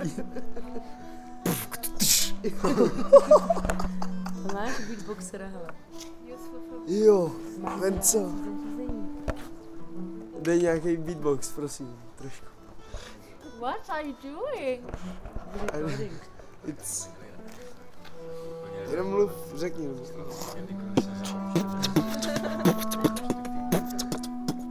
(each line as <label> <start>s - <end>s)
Beatbox 1.4s - 2.5s
Beatbox 20.9s - 24.7s